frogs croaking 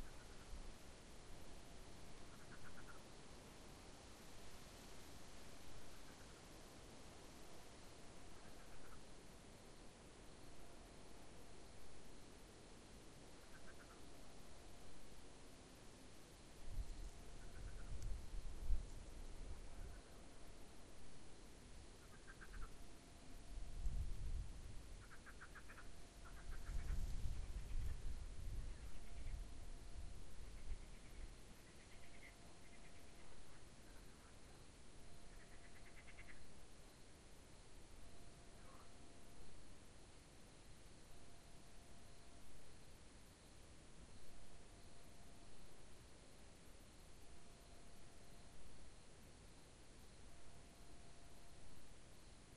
0:00.0 0:00.6, 0:02.2 0:03.1, 0:08.2 0:09.1, 0:13.4 0:14.2, 0:17.0 0:18.1, 0:22.0 0:22.8, 0:25.0 0:28.0, 0:30.4 0:36.6, 0:38.4 0:39.2

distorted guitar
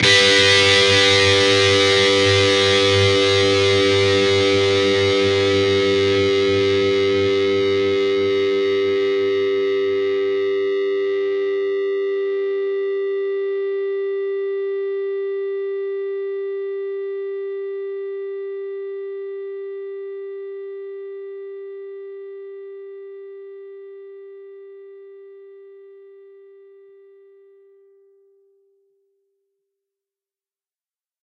0:00.0 0:13.6

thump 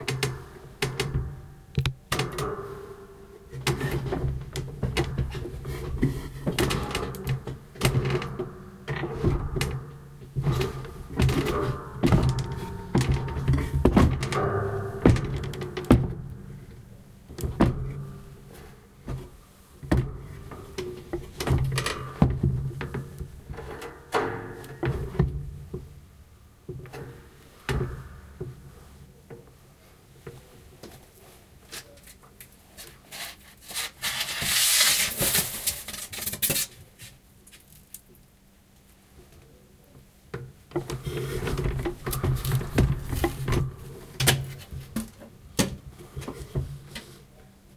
0:10.4 0:16.3

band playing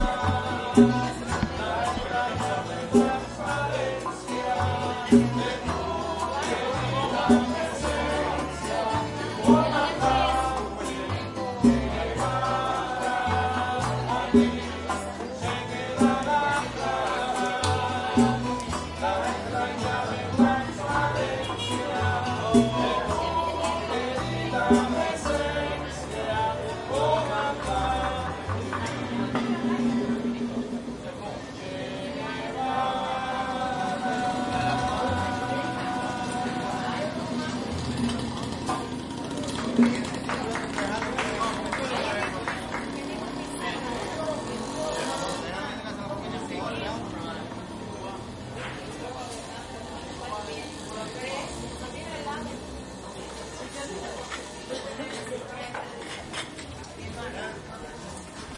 0:00.0 0:12.1

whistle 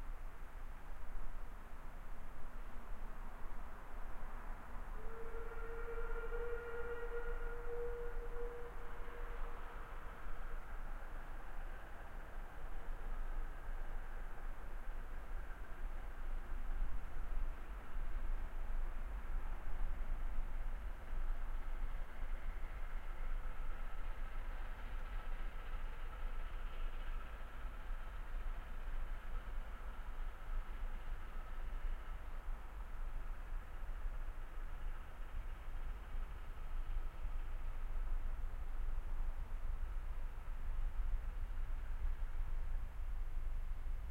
0:05.0 0:09.5

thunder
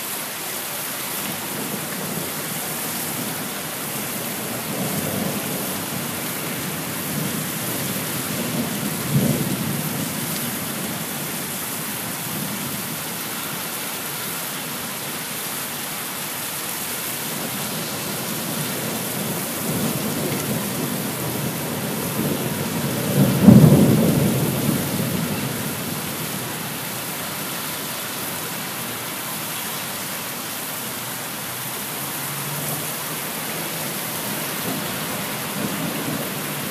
0:04.4 0:11.1, 0:17.7 0:26.5

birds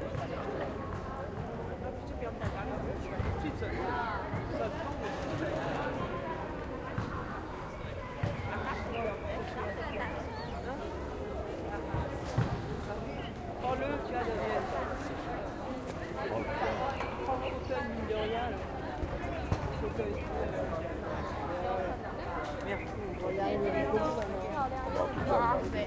0:08.2 0:11.2, 0:12.0 0:14.2

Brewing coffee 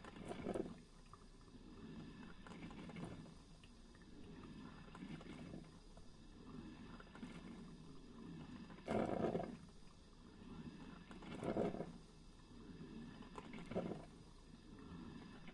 0:00.0 0:01.2, 0:02.2 0:10.0, 0:10.9 0:12.0, 0:13.2 0:15.5

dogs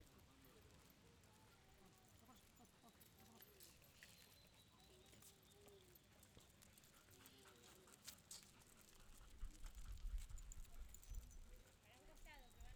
0:05.0 0:12.5

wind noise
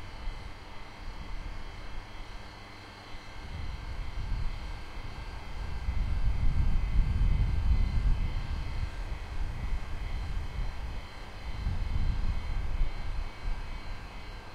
0:03.4 0:14.2

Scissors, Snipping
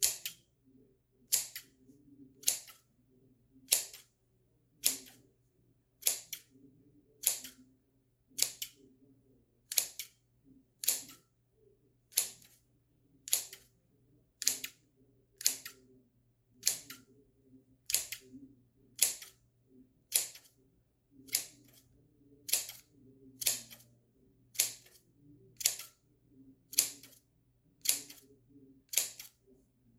0:00.0 0:00.4, 0:01.3 0:01.7, 0:02.4 0:02.9, 0:03.7 0:04.1, 0:04.8 0:05.2, 0:06.0 0:06.5, 0:07.2 0:07.6, 0:08.4 0:08.8, 0:09.7 0:10.2, 0:10.8 0:11.2, 0:12.1 0:12.6, 0:13.3 0:13.7, 0:14.4 0:14.8, 0:15.4 0:15.8, 0:16.6 0:17.0, 0:17.9 0:18.3, 0:19.0 0:19.4, 0:20.1 0:20.5, 0:21.2 0:21.8, 0:22.5 0:23.9, 0:24.6 0:25.0, 0:25.6 0:26.0, 0:26.7 0:27.2, 0:27.8 0:28.3, 0:28.9 0:29.4

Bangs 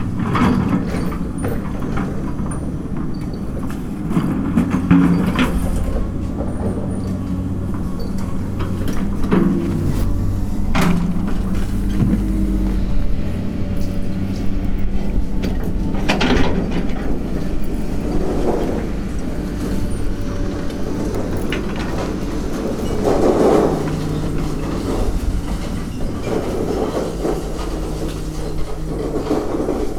0:04.8 0:17.6

